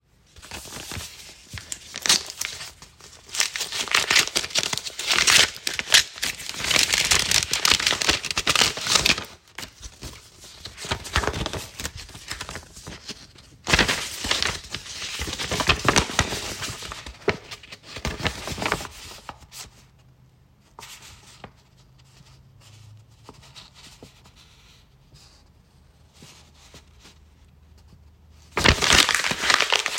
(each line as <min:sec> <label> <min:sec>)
0:00.3 Standard business envelope being opened 0:19.8
0:00.3 enclosed paper document removed, unfolded 0:19.7
0:28.5 Standard business envelope being opened 0:29.9
0:28.6 enclosed paper document removed, unfolded 0:29.9
0:28.6 crumple 0:29.9